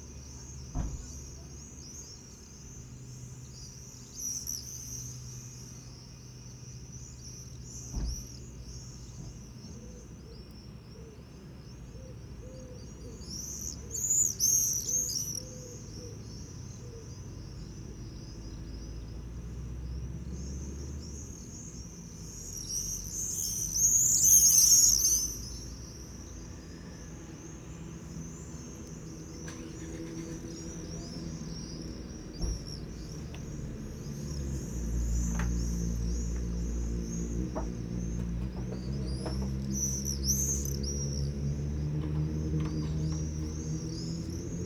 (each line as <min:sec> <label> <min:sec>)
0:12.2 Traffic 0:44.6
0:22.2 goldfinch sings 0:26.1
0:27.1 distant pigeons coo 0:44.6
0:28.8 goldfinch sings 0:44.6